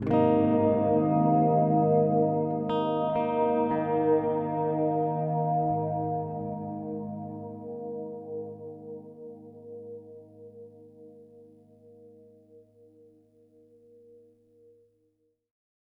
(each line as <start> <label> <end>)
0.0 Simple chord played on my G4M electric baritone guitar 12.8